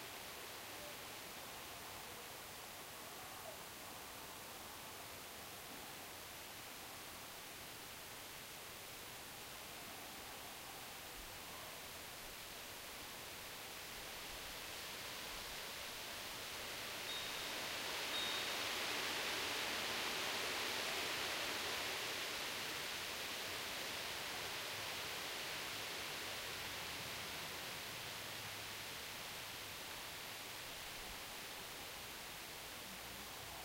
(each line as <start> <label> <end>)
0.0 calm light breeze 33.6
17.1 wind chimes in background 18.6